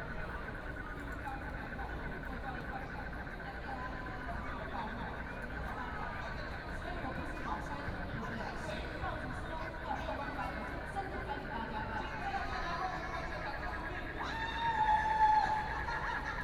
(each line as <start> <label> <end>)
0.0 A lot of people waiting for fireworks 16.4
0.0 Frogs sound 16.4